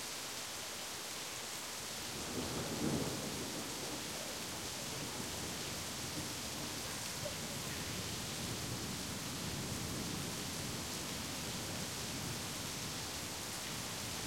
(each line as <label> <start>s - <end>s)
heavy summer shower 0.0s - 14.2s